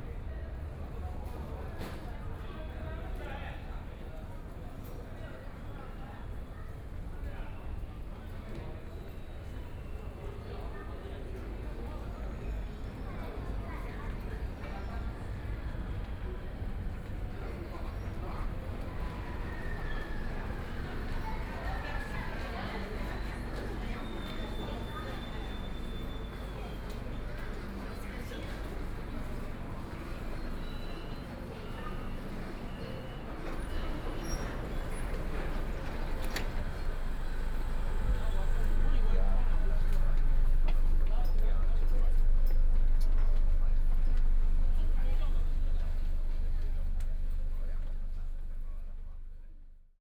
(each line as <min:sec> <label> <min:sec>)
0:00.0 Walking in the subway station 0:50.0